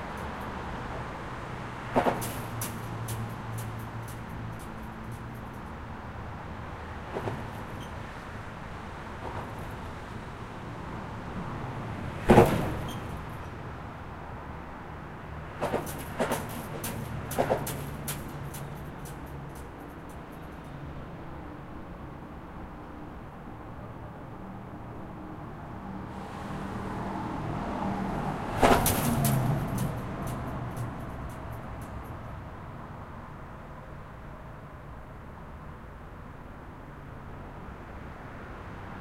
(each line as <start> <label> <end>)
0.0 Obstacle in the road making cool noises with traffic 39.0
0.0 traffic 39.0